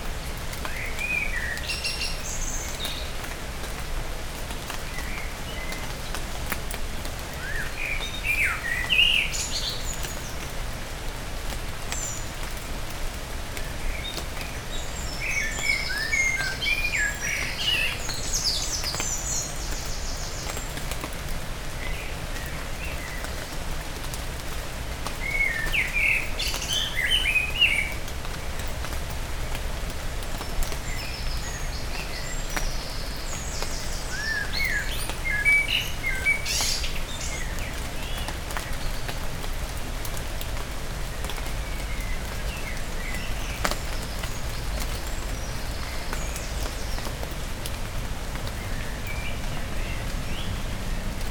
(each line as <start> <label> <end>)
0.0 rain is falling 51.3
0.1 blackbirds give a delicious song 51.3